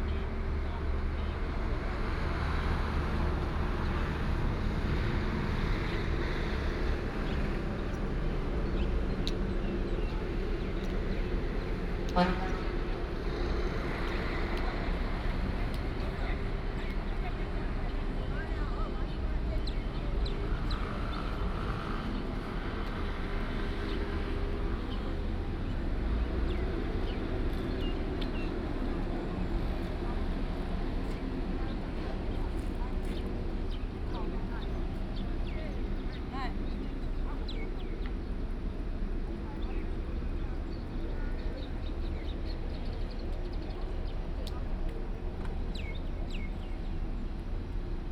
traffic sound 0.0 - 48.1
Birds sound 30.8 - 48.0

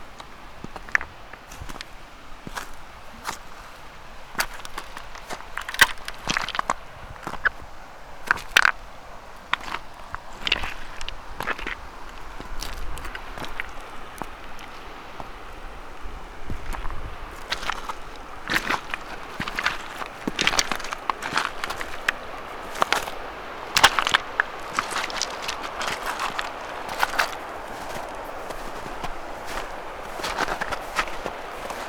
river 0.0 - 31.8

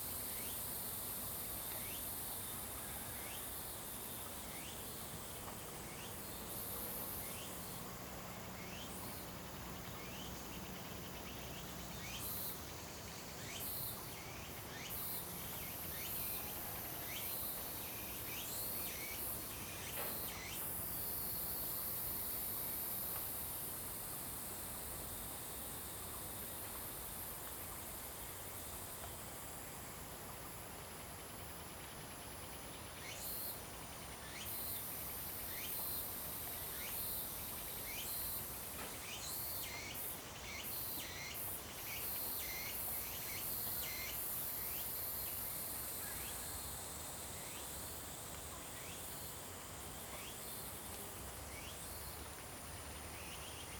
Cicadas cry 8.4 - 22.4
Cicadas cry 32.4 - 53.7

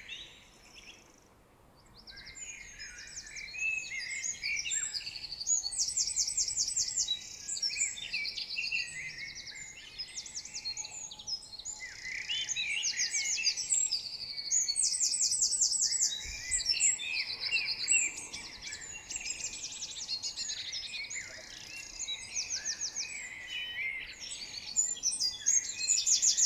Common chaffinch 0.0 - 26.4
blackbird 0.0 - 26.4
european robin 0.0 - 26.4
greenfinch 12.4 - 26.4

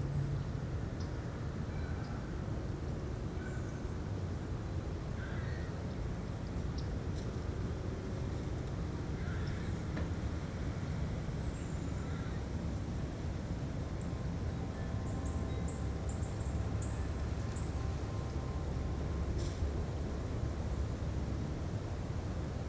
moderate breeze 0.0 - 22.6
sounds from a nearby road 0.0 - 22.6
wildlife 0.0 - 22.6

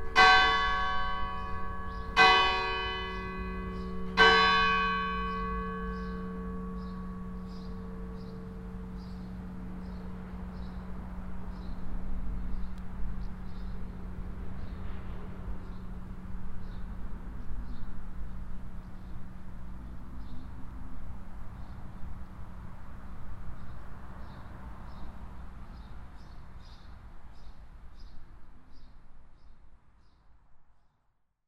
bells ringing 0.0 - 9.2

